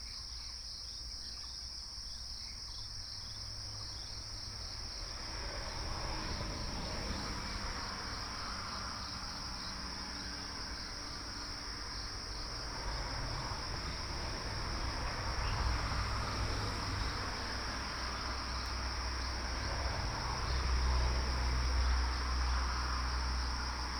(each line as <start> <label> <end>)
0.0 Cicadas 23.9